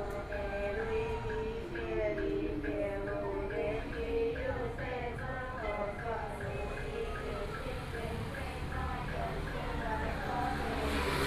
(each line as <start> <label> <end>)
0.0 Chanting 11.2
0.0 Taiwan Traditional opera 11.2
7.6 Traffic Sound 11.2